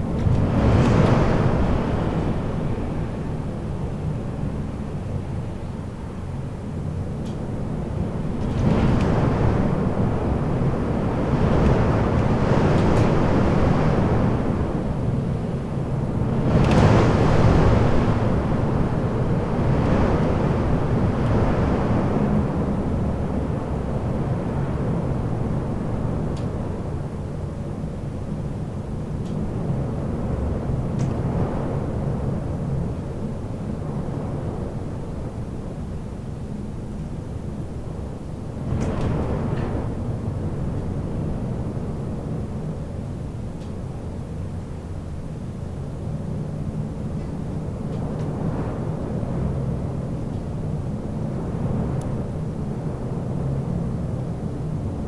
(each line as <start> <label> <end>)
0.0 storm behind the balcony window 55.0